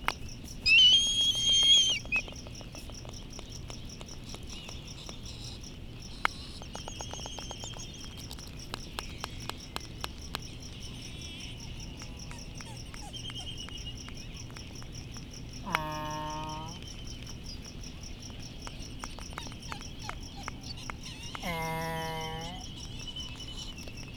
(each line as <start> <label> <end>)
0.0 cricket 24.1
0.0 laysan albatross 24.1
0.1 white terns 24.1
0.6 distant black-footed albatross 2.4